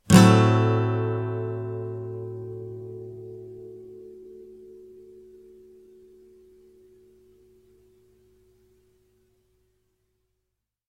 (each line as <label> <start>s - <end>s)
acoustic guitar strum with medium metal pick 0.0s - 6.8s